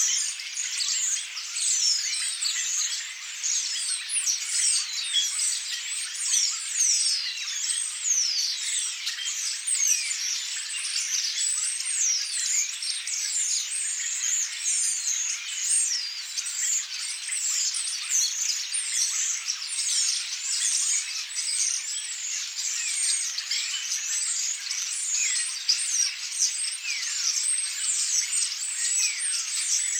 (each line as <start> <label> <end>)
0.0 common starling 29.9